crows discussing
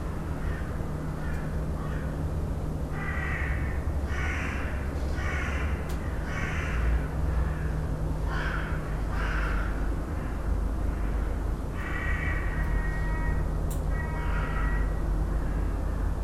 3.0s 15.6s

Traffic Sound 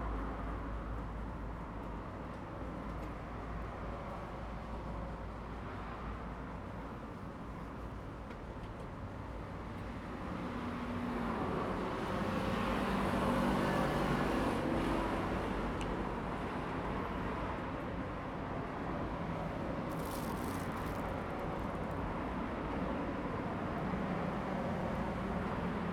18.6s 25.9s

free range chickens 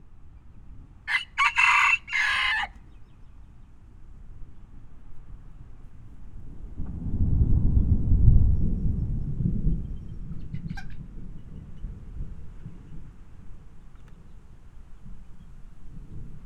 1.1s 3.8s, 10.4s 11.9s

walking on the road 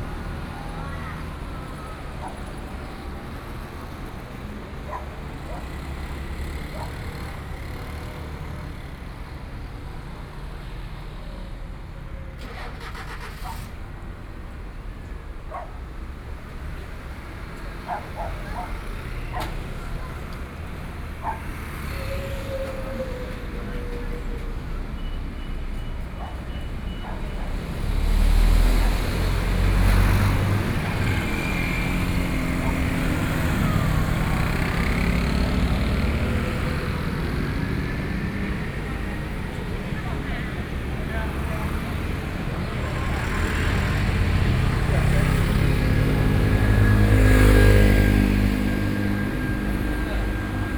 12.4s 50.7s

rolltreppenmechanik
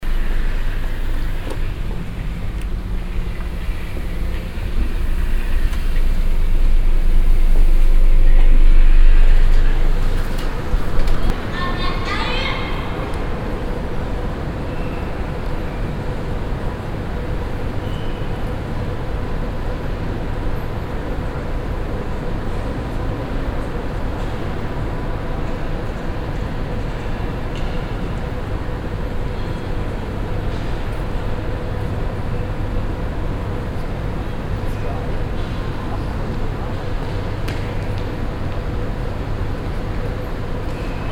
0.0s 11.8s

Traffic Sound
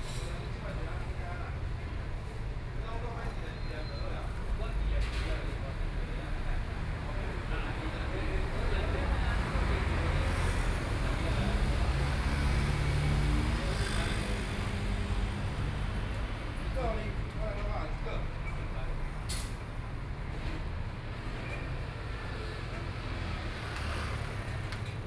6.4s 25.0s

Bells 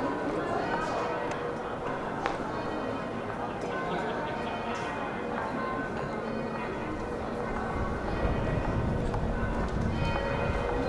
5.5s 10.8s

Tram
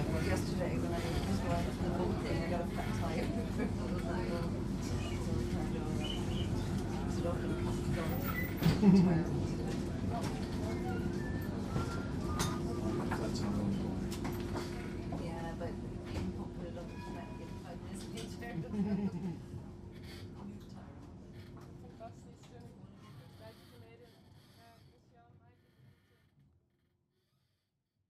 0.0s 22.0s

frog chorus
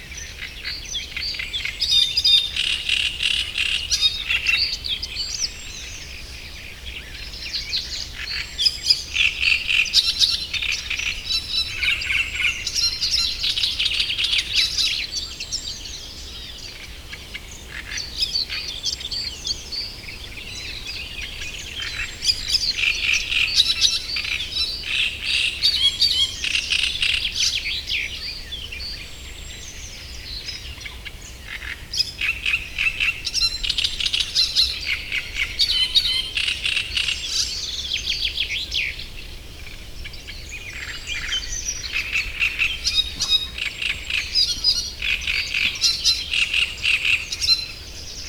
40.6s 47.9s

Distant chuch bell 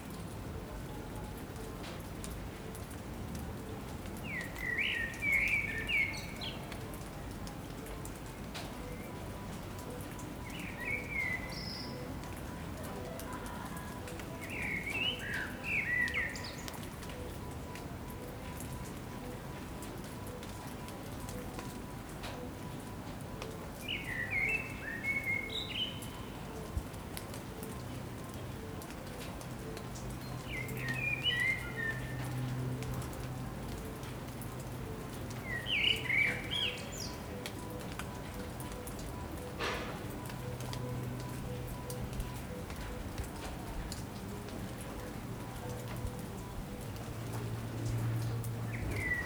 36.3s 49.2s

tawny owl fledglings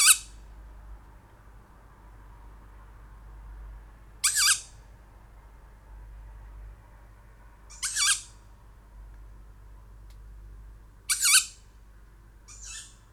0.0s 0.4s, 4.2s 4.8s, 7.7s 8.4s, 11.1s 11.6s, 12.4s 13.1s

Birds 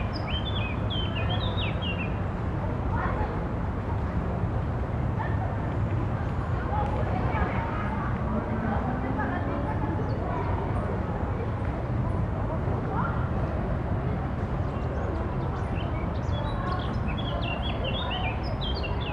0.0s 2.2s, 14.4s 19.1s

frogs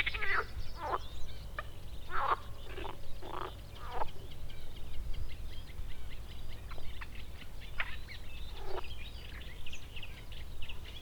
0.0s 4.1s, 8.5s 8.8s

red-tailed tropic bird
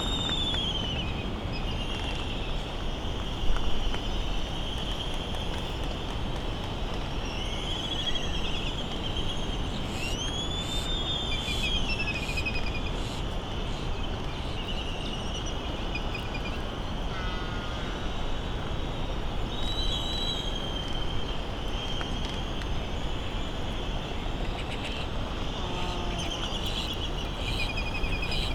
24.3s 28.5s

